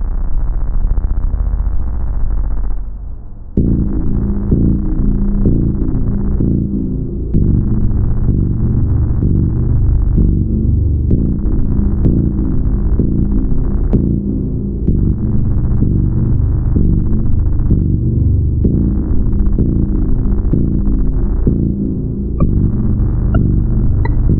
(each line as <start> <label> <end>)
20.1 piece of music 24.3